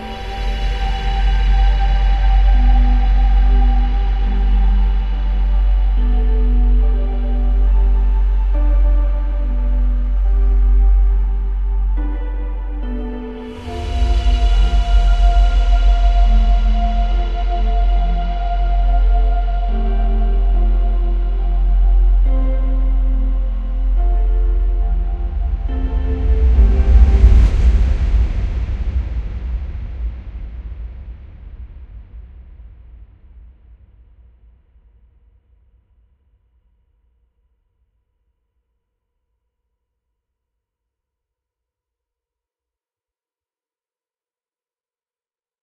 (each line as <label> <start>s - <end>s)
Harp 0.0s - 29.7s
Flute 0.0s - 30.6s
Strings 0.0s - 32.1s
Piano 0.0s - 32.8s